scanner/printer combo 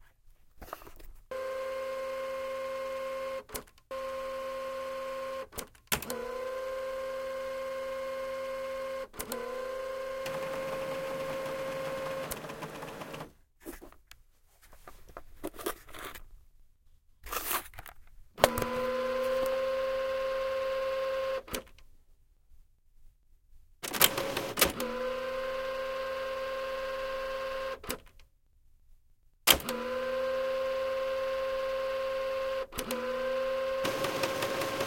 1.3s 13.3s, 18.4s 21.6s, 23.8s 27.9s, 29.5s 34.8s

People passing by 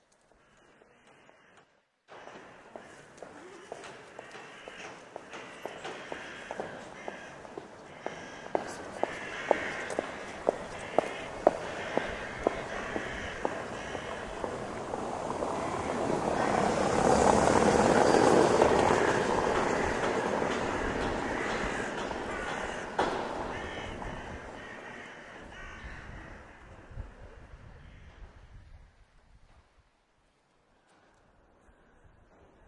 2.1s 25.5s

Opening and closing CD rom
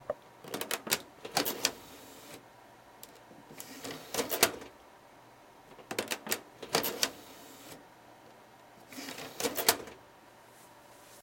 0.5s 2.4s, 3.0s 4.7s, 5.7s 7.8s, 8.8s 10.0s

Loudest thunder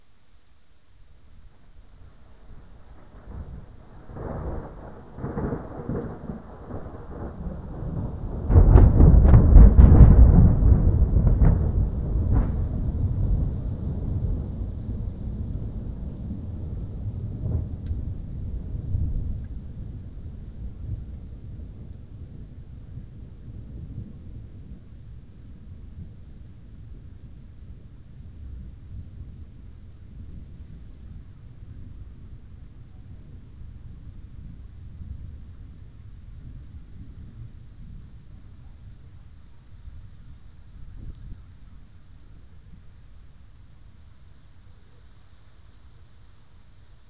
2.4s 27.8s

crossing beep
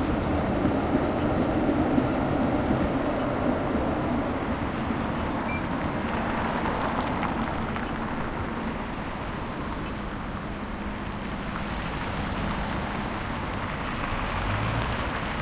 5.4s 5.8s

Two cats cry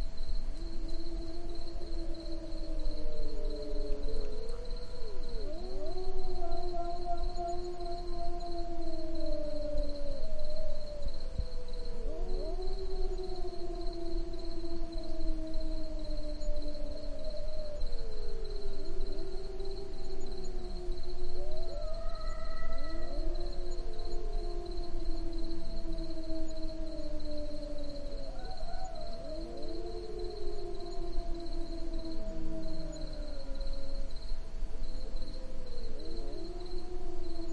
21.7s 23.4s

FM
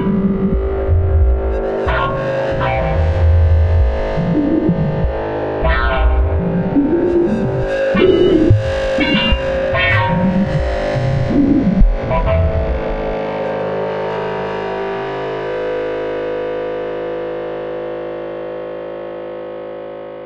0.0s 13.2s

